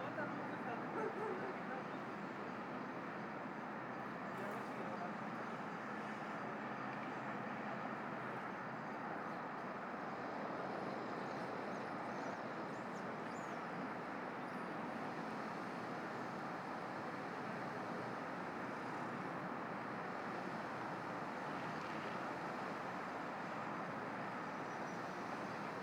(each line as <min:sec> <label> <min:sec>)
0:11.2 birds that we can listened from time to time 0:13.7
0:24.5 birds that we can listened from time to time 0:25.2